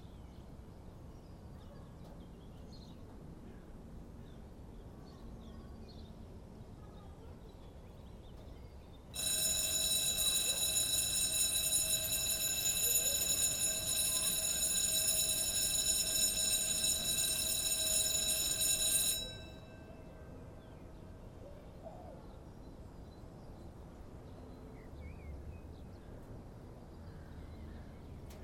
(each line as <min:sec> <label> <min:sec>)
0:09.2 ringtone is vibrating 0:19.4